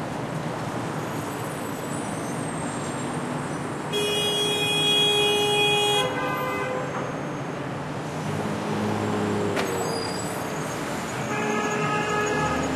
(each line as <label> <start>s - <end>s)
Cars can be heard driving by 0.0s - 12.7s
horns are honked 11.3s - 12.7s